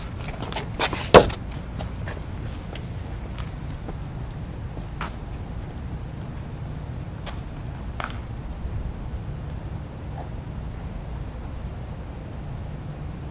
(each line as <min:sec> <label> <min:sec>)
0:00.0 wind 0:13.3